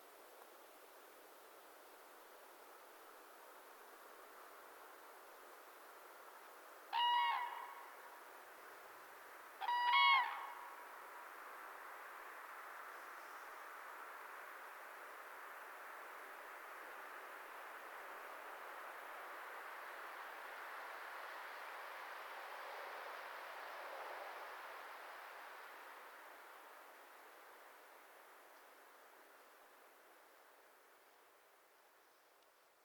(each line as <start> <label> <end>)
6.9 pair of cranes (Grus grus) welcoming fellow fieldrecordist 8.0
9.6 pair of cranes (Grus grus) welcoming fellow fieldrecordist 10.8